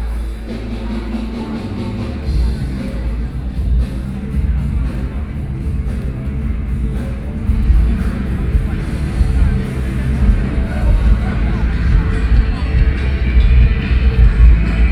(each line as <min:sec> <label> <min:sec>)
0:00.0 Holiday crowds 0:14.9